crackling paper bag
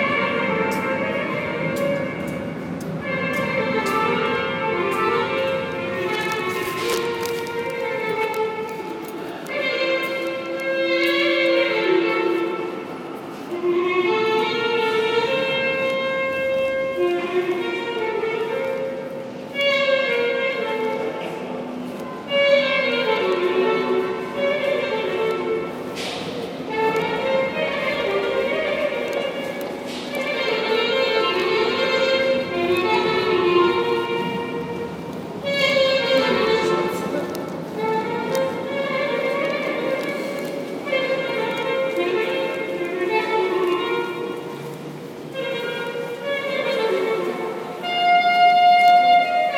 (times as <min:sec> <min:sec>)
0:05.9 0:10.2